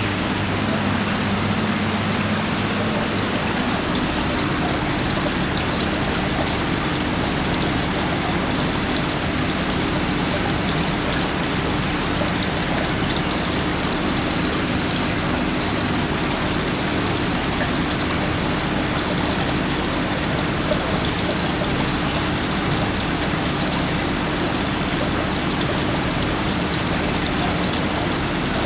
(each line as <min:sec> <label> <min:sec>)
0:00.0 water in different water basins 0:28.6
0:00.0 water pumps 0:28.6